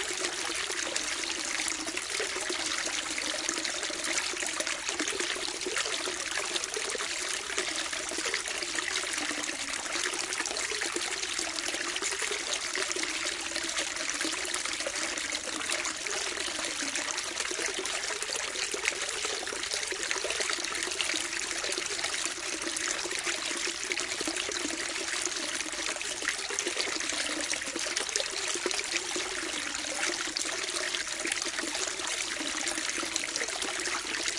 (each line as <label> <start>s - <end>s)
overflow of a large fishtank 0.0s - 34.3s